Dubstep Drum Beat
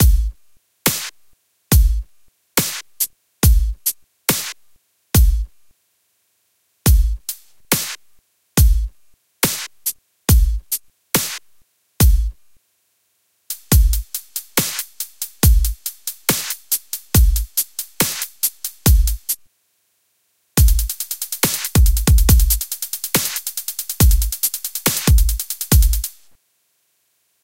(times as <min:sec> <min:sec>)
0:00.0 0:00.3, 0:02.6 0:04.6, 0:06.9 0:08.0, 0:08.6 0:11.4, 0:12.0 0:12.4, 0:13.5 0:19.4, 0:20.6 0:26.3